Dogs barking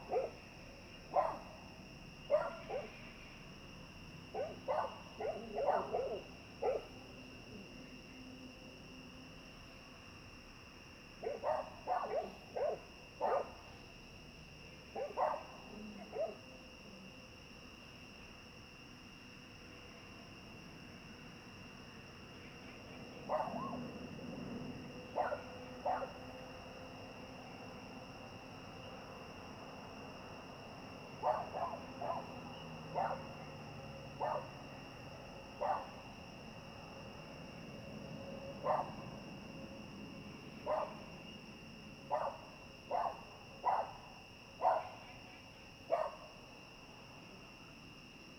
0.0 0.4, 1.1 1.6, 2.3 3.0, 4.3 7.0, 11.2 13.6, 15.0 16.4, 23.2 23.9, 25.1 26.2, 31.2 34.6, 35.6 36.0, 38.6 39.1, 40.6 41.1, 42.1 44.0, 44.6 45.0, 45.9 46.3

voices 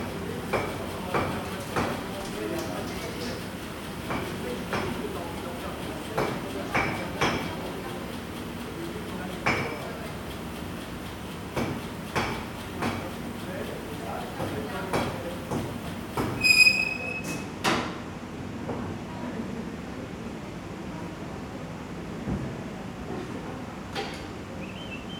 0.1 16.5

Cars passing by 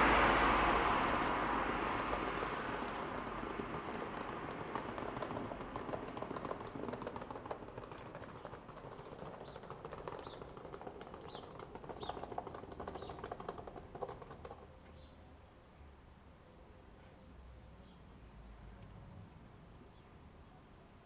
0.0 14.7

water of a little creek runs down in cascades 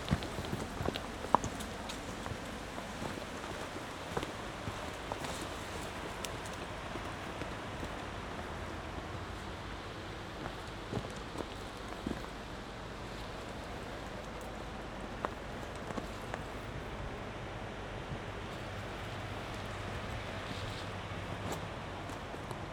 0.0 16.5

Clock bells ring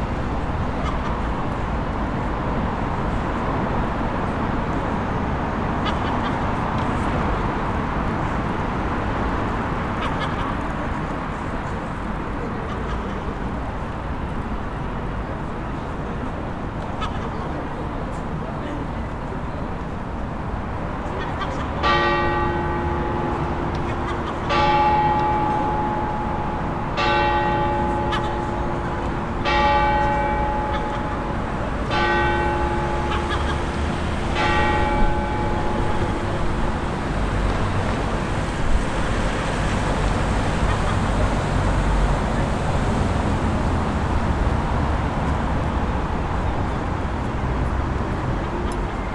21.8 37.9

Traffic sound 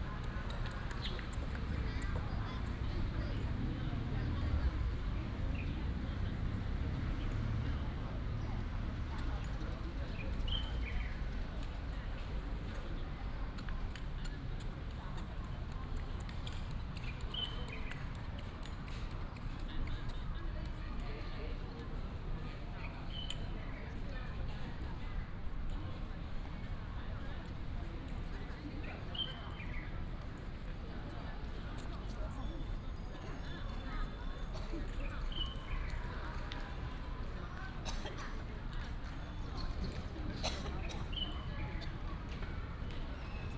29.5 43.5

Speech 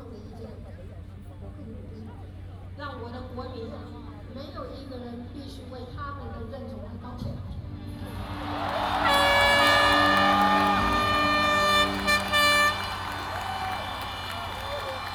0.0 7.9

